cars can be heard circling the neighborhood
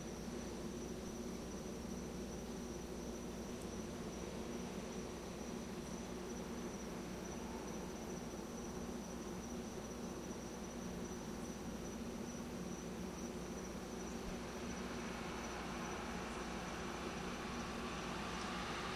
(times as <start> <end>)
12.8 18.9